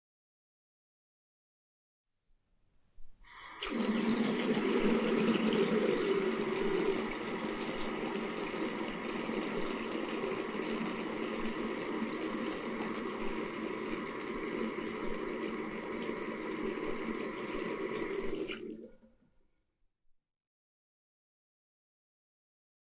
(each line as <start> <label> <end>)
3.3 Tap water pouring 19.0